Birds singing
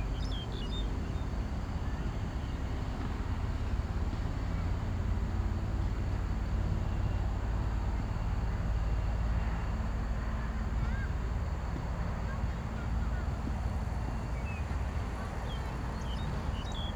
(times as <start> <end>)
0.0 1.2, 13.2 16.9